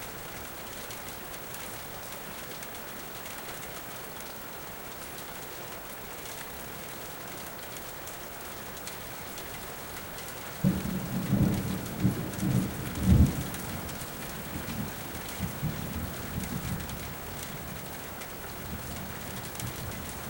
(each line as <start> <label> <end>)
10.6 Thunder 16.8